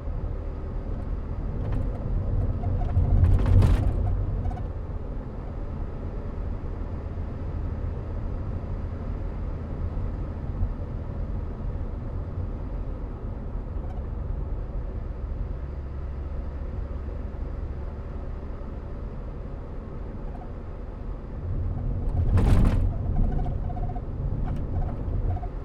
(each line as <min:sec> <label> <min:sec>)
0:00.0 Snowy mountain drive in old Volvo 0:25.6